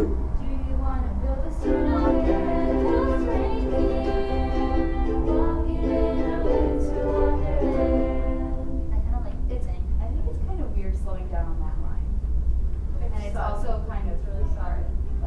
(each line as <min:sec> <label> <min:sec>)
0:01.6 holiday melody on ukuleles 0:09.0